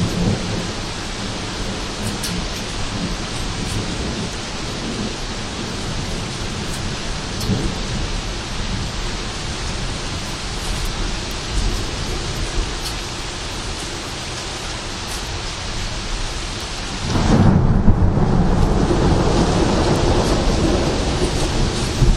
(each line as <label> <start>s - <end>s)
rain 0.0s - 22.1s
thunder 16.8s - 22.1s